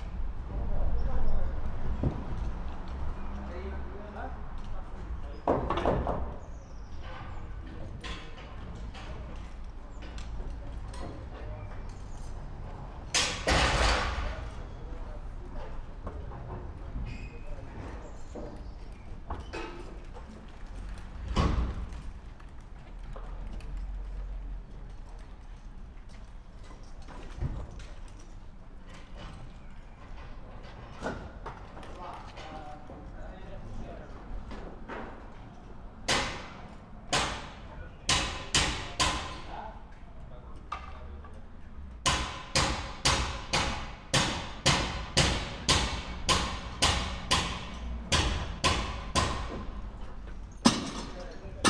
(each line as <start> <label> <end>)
0.0 construction work 51.6